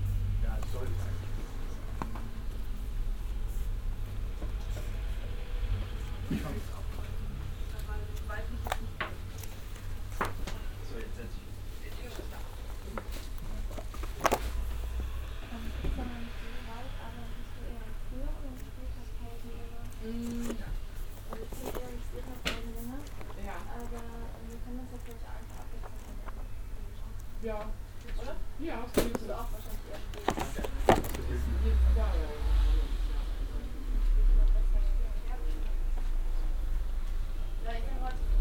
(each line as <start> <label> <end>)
3.4 verschieben einer bibliotheksleiter 36.5